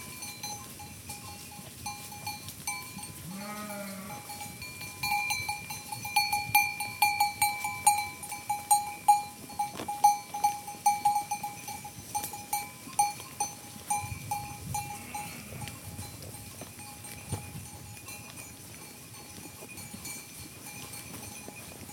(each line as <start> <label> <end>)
0.0 Sheep 21.9